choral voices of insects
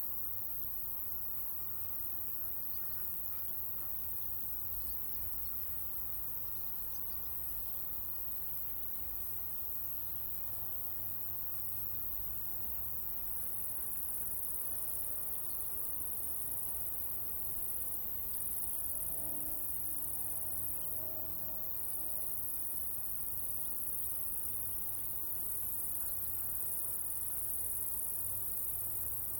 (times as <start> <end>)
12.9 29.3